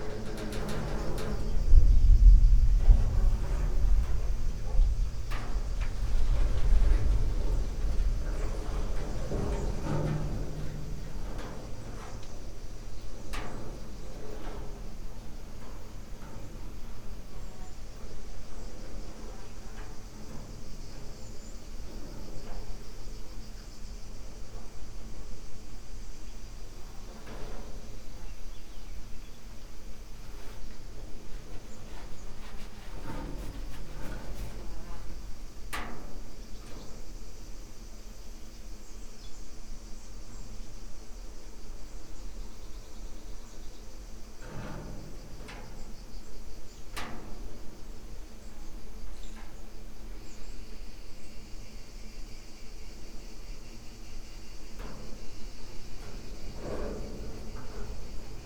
distant thunder 0.0 - 11.8
cicadas 0.0 - 58.4
tree branches on the top of metal shed, moved by wind 0.0 - 58.4
steps 30.2 - 35.2

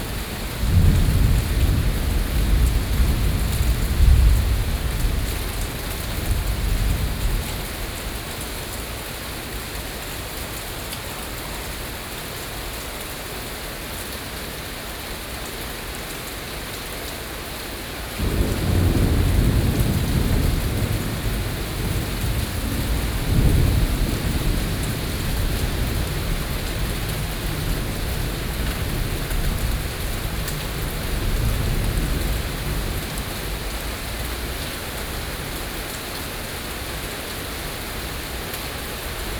thunderstorms 0.0 - 8.1
thunderstorms 18.2 - 35.5

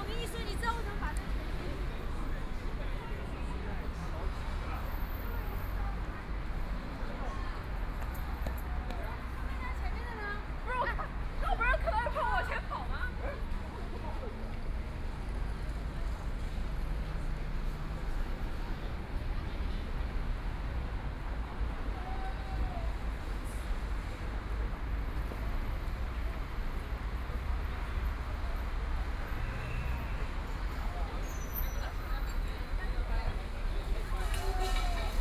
Traffic Sound 0.0 - 35.2
Walking in the street 0.0 - 35.2
moving pedestrians 0.0 - 35.2

